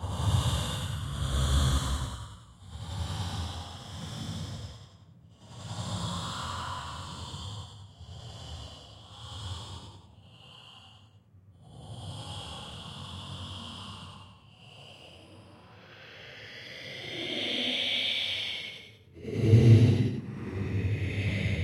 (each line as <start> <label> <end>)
15.4 Monster heavy breathing 21.6
19.2 monster groaning 21.6